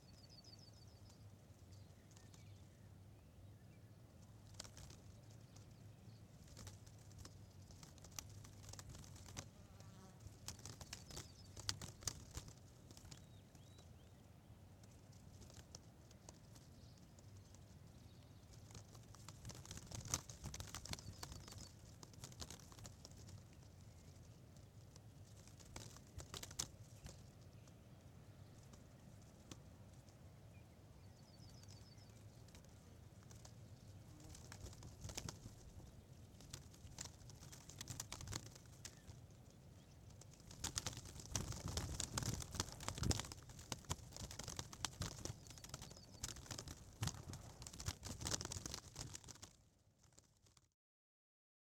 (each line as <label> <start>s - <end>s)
plastic protective tape playing in the wind 4.4s - 9.6s
plastic protective tape playing in the wind 10.2s - 14.1s
plastic protective tape playing in the wind 14.9s - 27.7s
plastic protective tape playing in the wind 31.2s - 50.7s